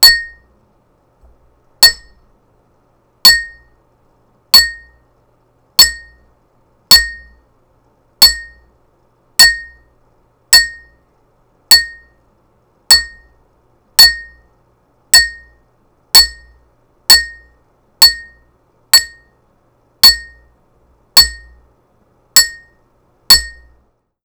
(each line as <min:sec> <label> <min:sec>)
0:00.0 muted glass toast dings 0:00.4
0:01.8 muted glass toast dings 0:02.2
0:03.2 muted glass toast dings 0:03.7
0:04.6 muted glass toast dings 0:05.0
0:05.8 muted glass toast dings 0:06.3
0:06.9 muted glass toast dings 0:07.4
0:08.2 muted glass toast dings 0:08.7
0:09.4 muted glass toast dings 0:09.9
0:10.5 muted glass toast dings 0:11.0
0:11.7 muted glass toast dings 0:12.2
0:12.9 muted glass toast dings 0:13.4
0:14.0 muted glass toast dings 0:14.4
0:15.2 muted glass toast dings 0:15.6
0:16.2 muted glass toast dings 0:19.4
0:20.0 muted glass toast dings 0:20.5
0:21.2 muted glass toast dings 0:21.6
0:22.4 muted glass toast dings 0:23.8